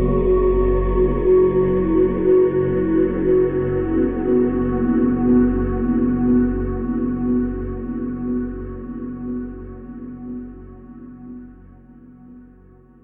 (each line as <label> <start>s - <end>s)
evolving drone pad 0.0s - 12.1s